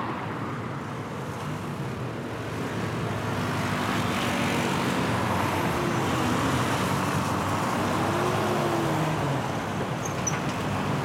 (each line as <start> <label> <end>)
0.0 buses 11.0
0.0 cars 11.0
3.0 motorcycles 11.0